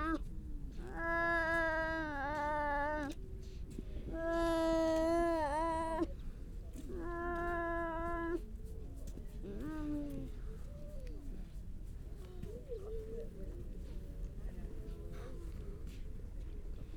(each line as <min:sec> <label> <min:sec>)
0:00.0 grey seals 0:03.2
0:00.8 grey seal pup call 0:03.2